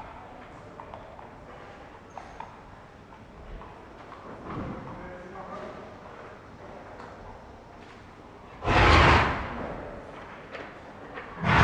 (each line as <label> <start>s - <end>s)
their snorting 8.6s - 9.8s
their snorting 11.4s - 11.6s